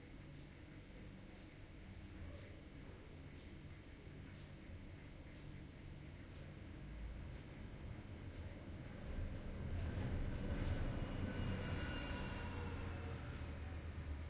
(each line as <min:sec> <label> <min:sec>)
0:00.0 room tone 0:14.2